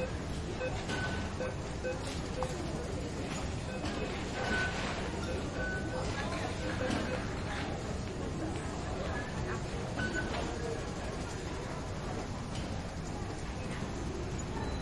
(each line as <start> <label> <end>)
0.0 confirmation beeps of the entrance/exit gate 7.6
0.0 announcement at the escalator 14.8
9.9 confirmation beeps of the entrance/exit gate 10.6
14.4 confirmation beeps of the entrance/exit gate 14.8